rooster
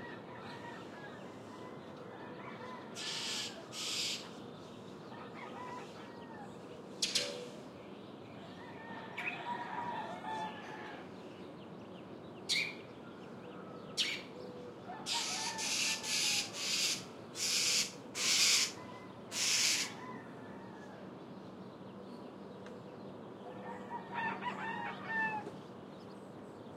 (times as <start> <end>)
0.0 3.8, 5.1 7.5, 8.5 11.2, 14.8 16.6, 18.7 21.1, 23.4 25.6